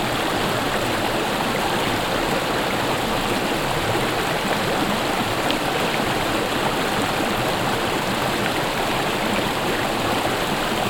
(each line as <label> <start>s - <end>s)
water flows over a low, long stone line 0.0s - 10.8s